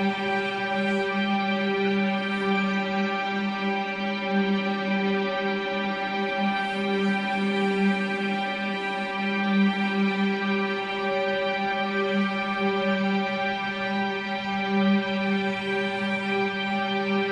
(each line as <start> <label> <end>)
0.0 Chrunched Church Organ Drone Pad 2.6